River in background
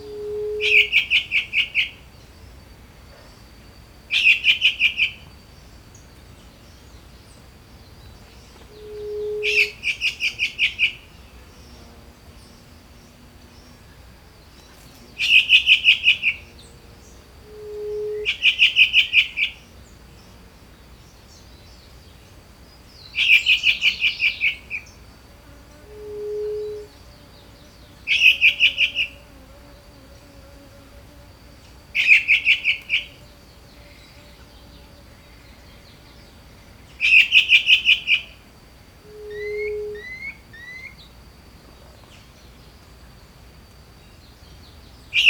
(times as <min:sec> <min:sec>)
0:31.0 0:45.2